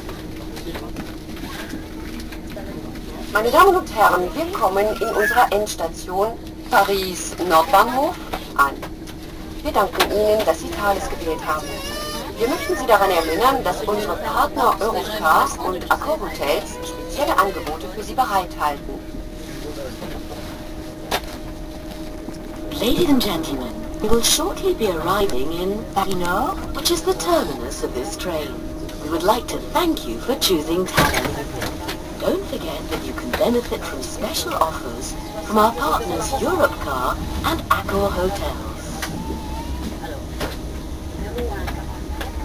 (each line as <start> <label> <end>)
0.0 train 42.4